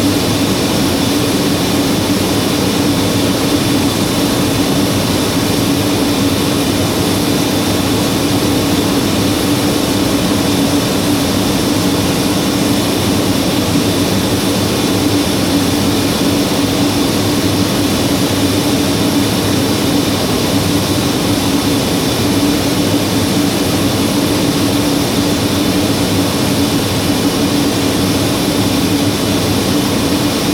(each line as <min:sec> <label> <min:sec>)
0:00.0 working turbine 0:30.5